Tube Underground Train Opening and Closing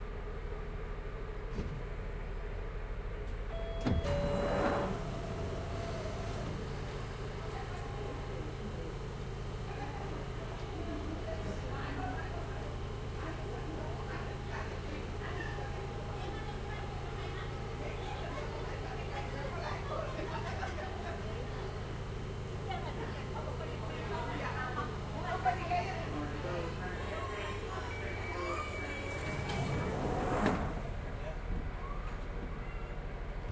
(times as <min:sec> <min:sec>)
0:01.3 0:11.7, 0:26.3 0:33.5